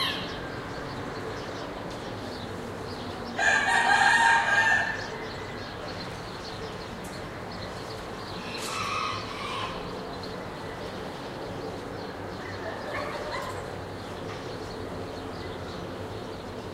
0.0s roosters crowing 0.9s
0.0s birds chirping 16.7s
0.0s soft traffic noise 16.7s
3.2s roosters crowing 5.5s
8.3s roosters crowing 10.6s

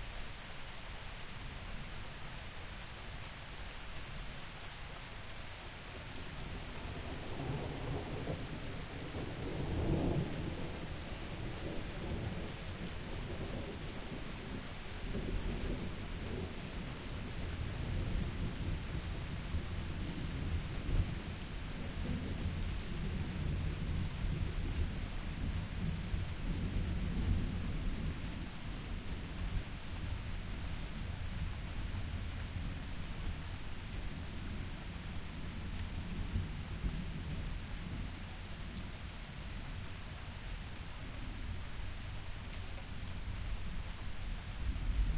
0.0s Rain 45.1s
6.5s thunder and lightning that crackles, booms and rumbles 30.2s
34.0s thunder and lightning that crackles, booms and rumbles 38.1s
44.6s thunder and lightning that crackles, booms and rumbles 45.1s

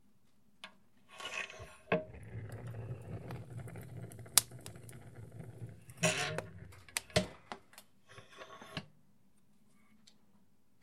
1.1s Opening Wood Stove 8.9s
1.2s crackling 7.9s

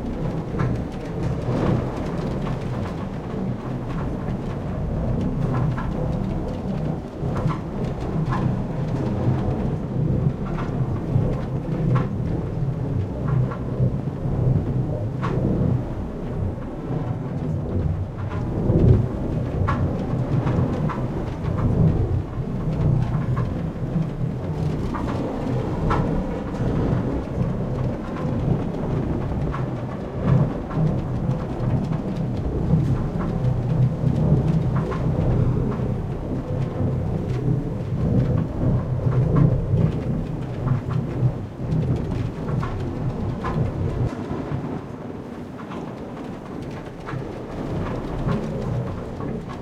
0.0s Trains 49.6s
0.0s Wind 49.6s

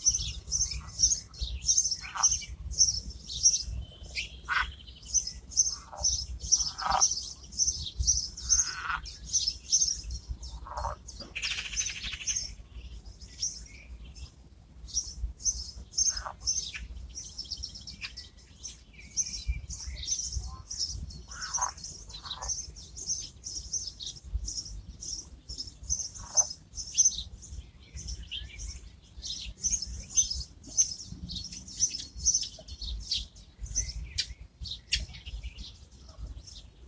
0.0s birds 36.8s

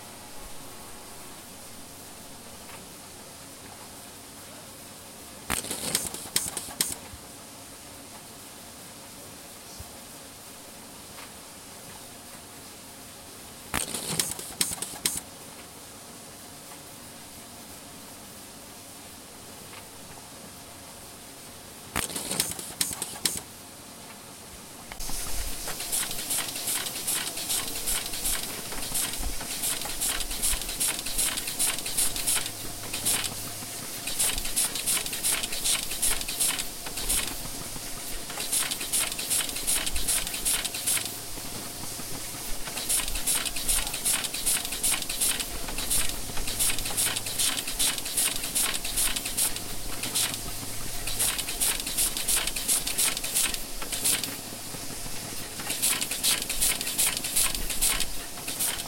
5.4s Automated testing and sorting of microchips 7.2s
13.7s Automated testing and sorting of microchips 15.3s
21.8s Automated testing and sorting of microchips 24.2s
24.8s Automated testing and sorting of microchips 58.8s

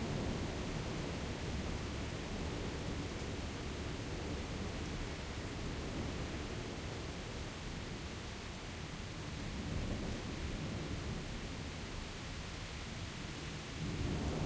0.0s rain 14.4s

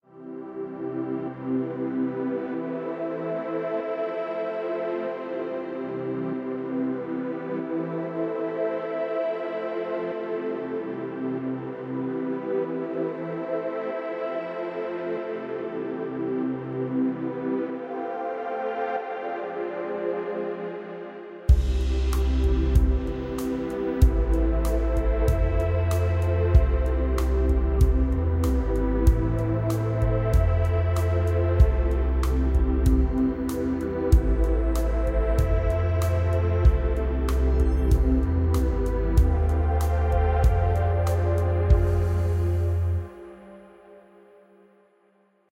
0.1s Soft Synth Pad 44.6s
0.1s strings 44.0s
12.6s flutes 44.4s
21.5s bass 43.2s

